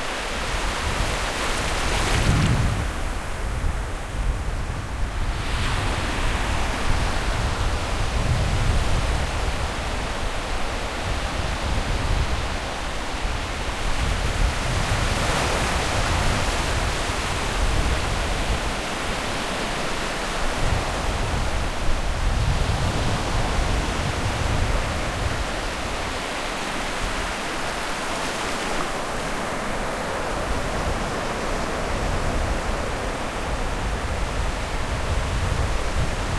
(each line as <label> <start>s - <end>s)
Waves at the beach 0.0s - 36.3s
wind 0.0s - 36.3s